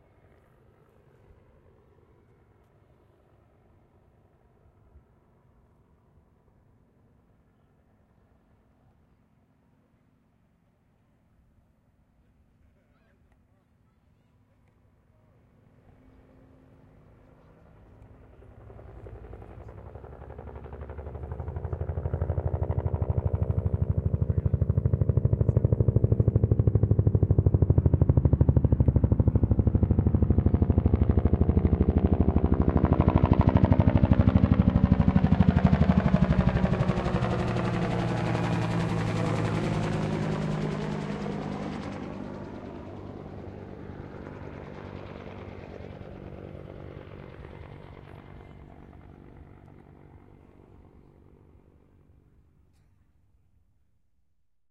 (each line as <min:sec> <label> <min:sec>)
0:00.0 Helicopter 0:11.2
0:12.2 Helicopter 0:53.5